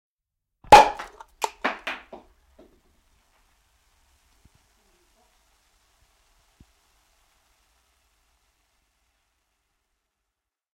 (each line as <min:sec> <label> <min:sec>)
0:00.7 Fizz cork popping 0:10.2
0:02.4 hiss 0:10.6